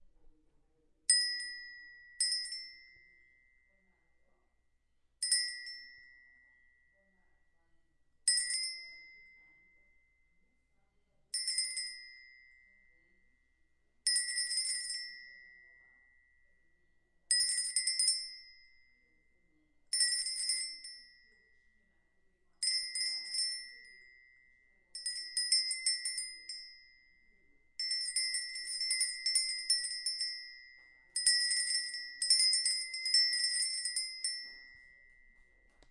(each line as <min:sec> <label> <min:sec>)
0:27.8 Cow Goat Bell 0:35.3